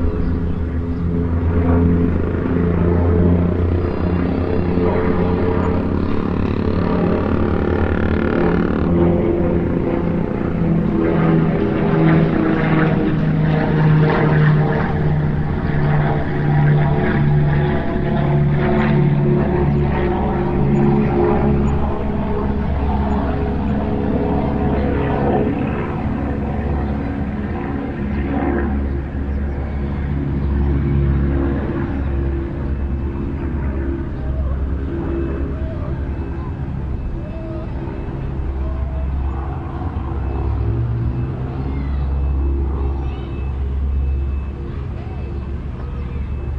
0.0s distant throaty traffic 46.5s
0.0s small prop plane fly over 46.5s

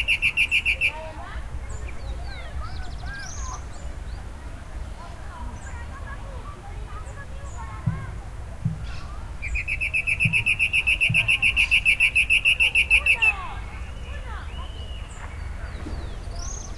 0.0s bird 4.3s
0.0s wind 16.7s
8.8s bird 16.7s

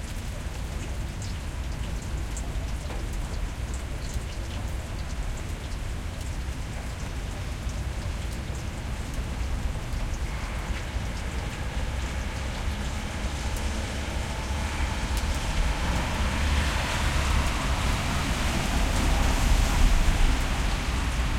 0.0s medium rain 21.3s
9.2s cars passing 21.3s

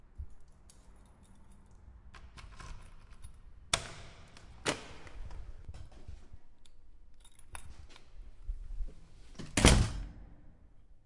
0.3s keys jangling 1.9s
6.6s keys jangling 8.1s
9.4s opening a door 10.2s
9.4s closing of door 10.2s

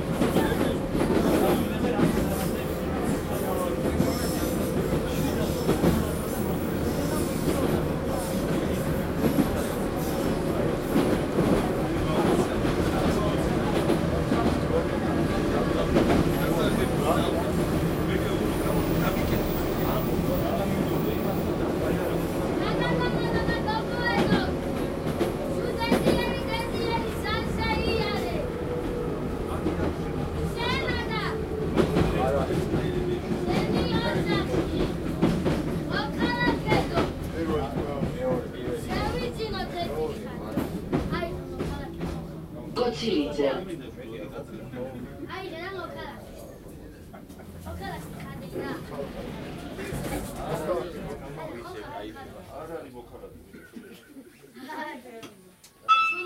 0.0s metro 53.7s
42.8s announcement 43.7s
55.8s metro 56.2s

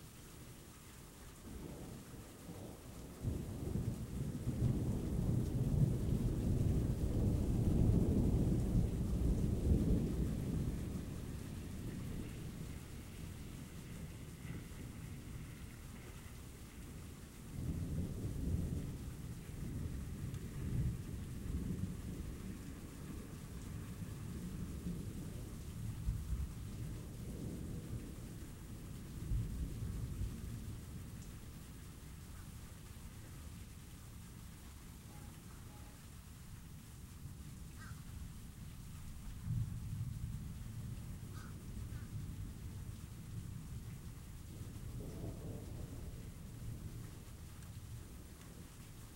0.0s rain 49.1s
3.2s thunder 16.4s
17.0s thunder 28.3s
44.9s thunder 47.2s

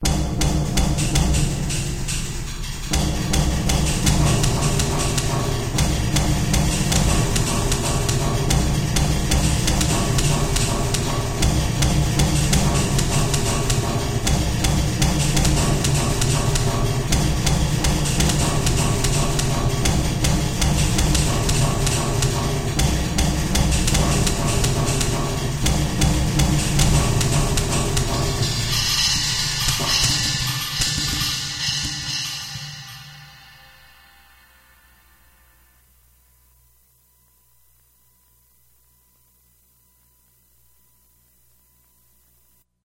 0.0s cymbals 36.1s
0.0s spanish war drums on million gal fuel tanks 33.6s
0.0s tablas 34.0s

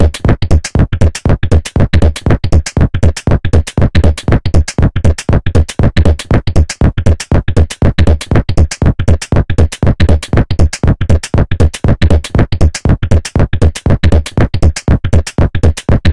0.0s Drum Loop 2 16.1s

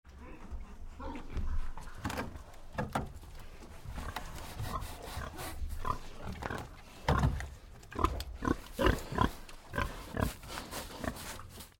4.1s scratches its back on it 6.1s
5.8s Big pig bites wood 10.4s
9.8s scratches its back on it 11.7s

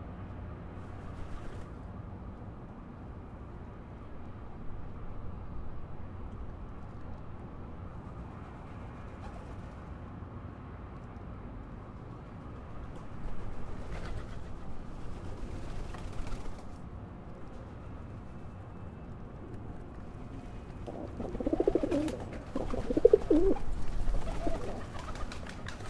20.3s pigeon 25.8s

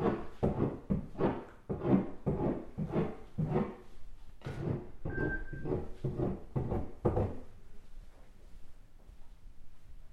0.0s Metal tool scraping exterior wall 3.8s
4.4s Metal tool scraping exterior wall 7.4s

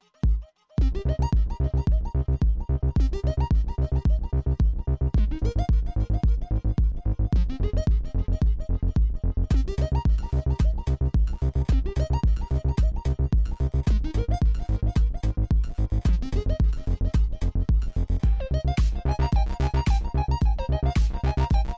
0.0s synthesizer 21.7s
0.2s Drums 21.7s

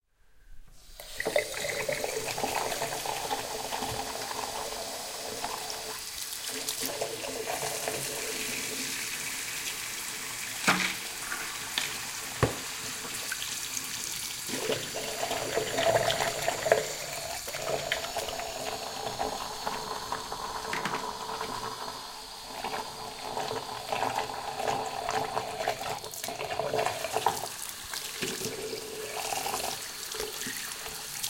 0.8s Washing Face in Bathroom Sink 31.2s

